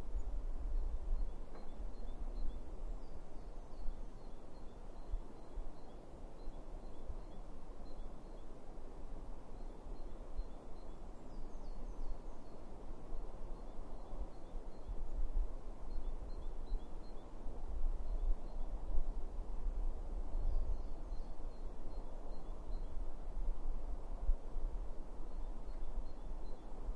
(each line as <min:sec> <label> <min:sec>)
0:01.2 Birdsong 0:08.6
0:20.3 Birdsong 0:23.0